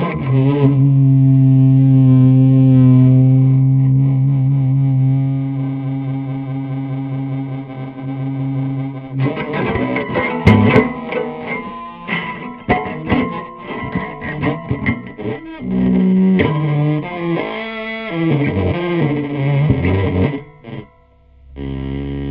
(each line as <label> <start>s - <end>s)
prepared guitar solo 0.0s - 22.3s